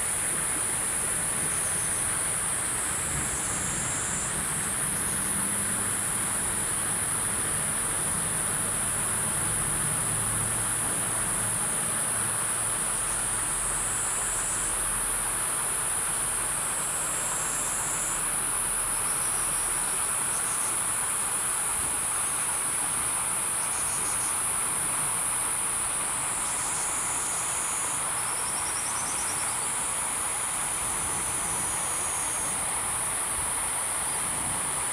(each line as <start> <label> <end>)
0.0 Insect sounds 34.9
0.0 water 34.9